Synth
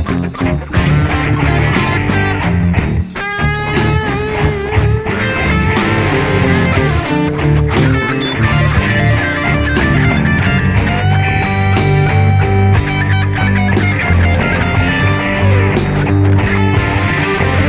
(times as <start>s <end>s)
5.4s 11.6s